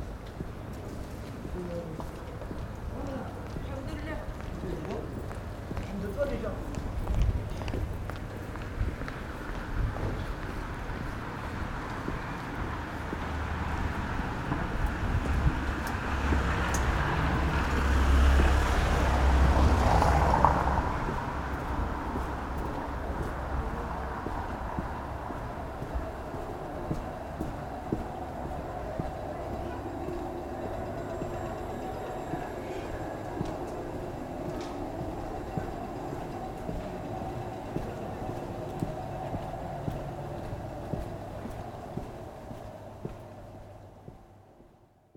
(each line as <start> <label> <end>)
1.2 few people talking 8.1
14.3 few people talking 42.6